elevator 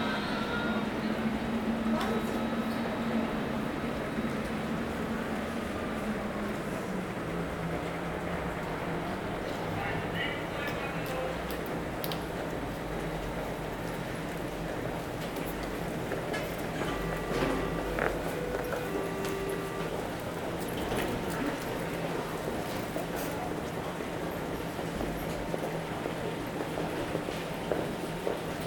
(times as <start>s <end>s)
13.8s 27.0s